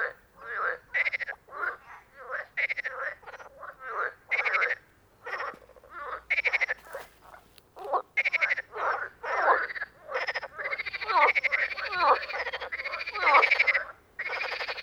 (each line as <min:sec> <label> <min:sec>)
0:00.0 Frogs 0:14.8
0:00.0 ducks 0:14.8
0:00.0 geese 0:14.8